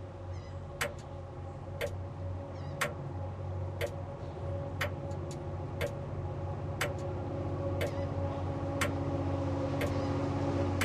train passing 0.0 - 10.8

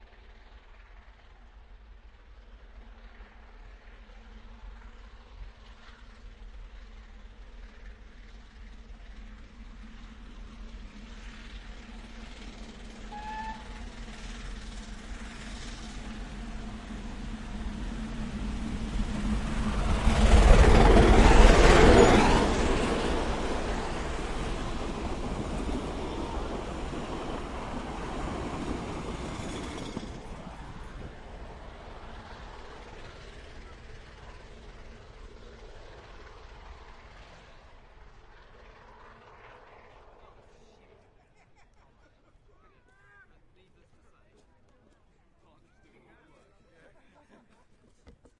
Locomotive 0.0 - 48.3

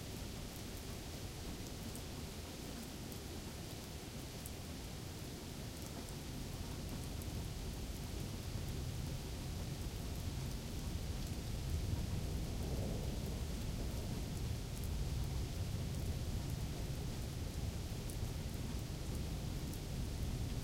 Rain 0.0 - 20.6
Thunder 11.8 - 14.6

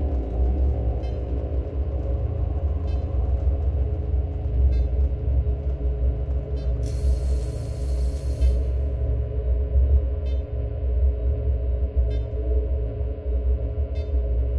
Drone 0.0 - 9.8
corroded welding repair bot 6.8 - 8.8
electrical spark sounds 6.8 - 8.8

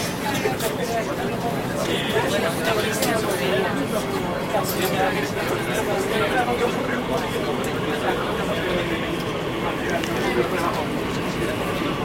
people 0.0 - 12.0
subway 0.0 - 12.0

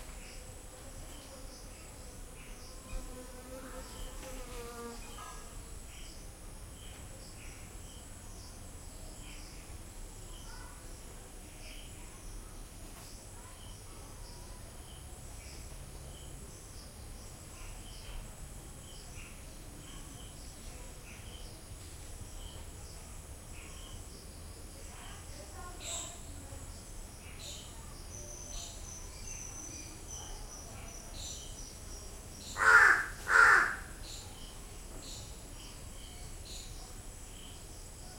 crickets 0.0 - 38.1
fly 0.0 - 38.1
crow 32.6 - 34.0

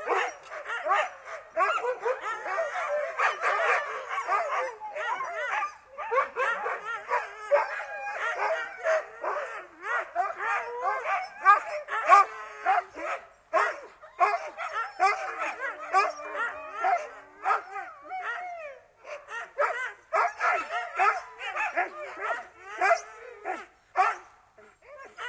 sled dogs, barking and howling 0.0 - 25.2

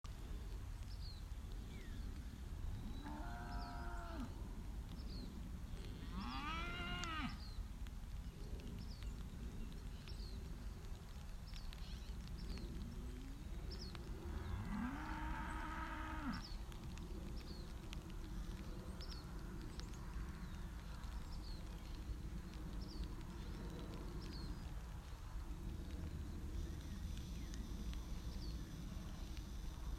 cows 6.0 - 7.4
cows 14.2 - 16.5

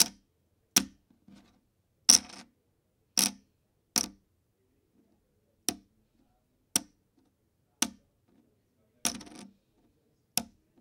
Placing plastic poker chips onto a wooden table 0.8 - 2.5
Placing plastic poker chips onto a wooden table 3.2 - 3.4
Placing plastic poker chips onto a wooden table 9.0 - 9.6

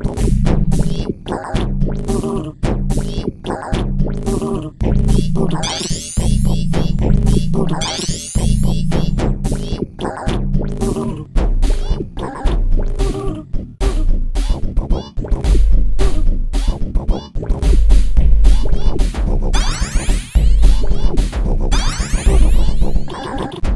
Drum Beat 0.0 - 23.7

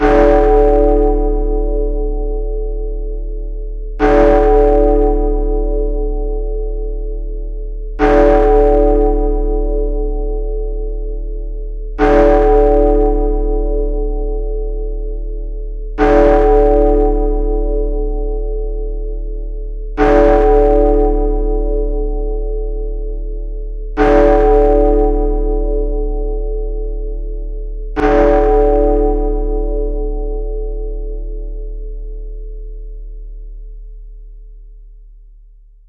Large bell with 8 strikes 0.0 - 34.8

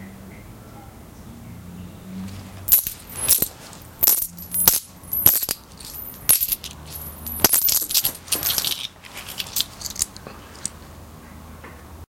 Throwing coins in hand 2.6 - 10.8

